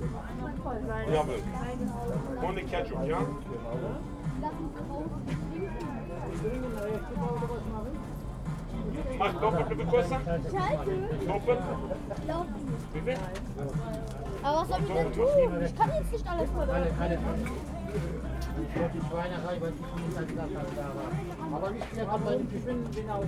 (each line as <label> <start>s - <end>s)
venders and visitors of the flea market 0.0s - 23.2s